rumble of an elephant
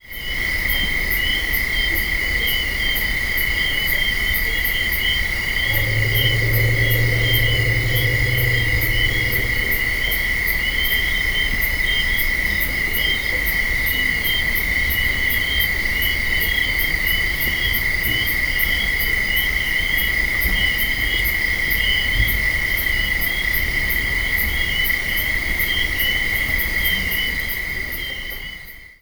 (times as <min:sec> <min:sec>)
0:05.3 0:11.0